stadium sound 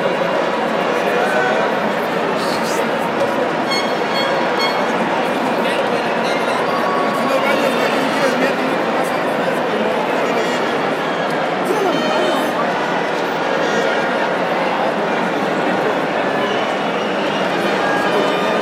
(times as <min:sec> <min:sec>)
0:01.1 0:09.8